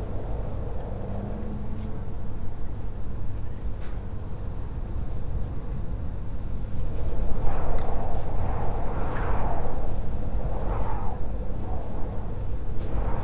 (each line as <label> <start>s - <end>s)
metal sheet balcony wall bends in the wind 0.0s - 13.2s
wind gushing through a narrow gap of a sliding door 6.3s - 13.2s